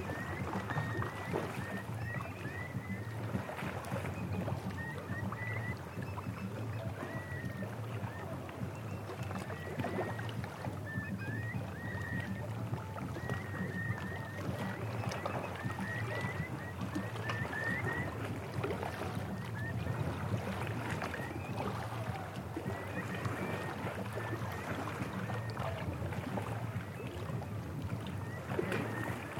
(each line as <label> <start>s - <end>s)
seagull noise 0.0s - 27.4s
Water sounds 0.0s - 29.3s
seagull noise 28.1s - 29.3s